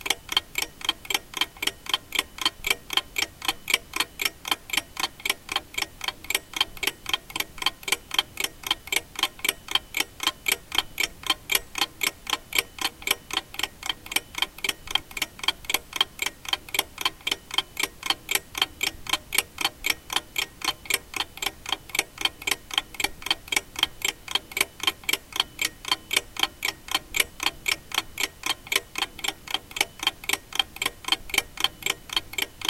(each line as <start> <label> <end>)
0.0 ticking of an old alarm clock 32.6